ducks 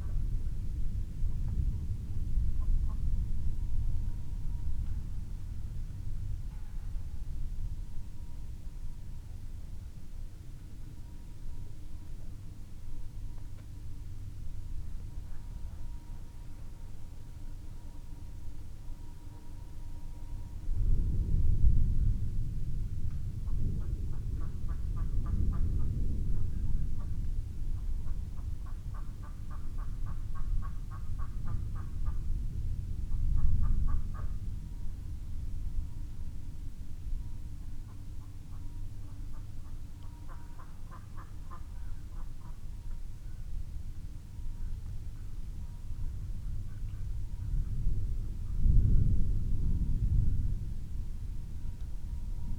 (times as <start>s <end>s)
40.0s 42.6s